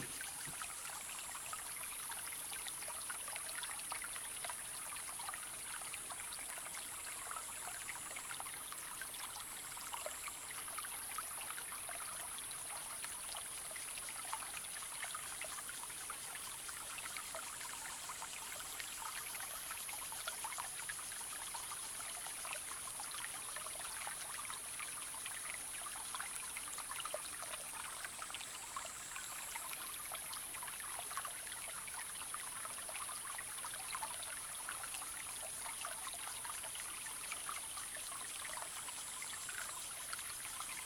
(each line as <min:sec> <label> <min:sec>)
0:00.0 small stream 0:40.8